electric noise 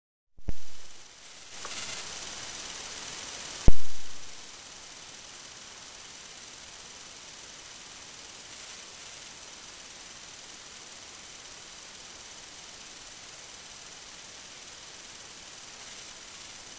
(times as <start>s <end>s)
0.4s 5.4s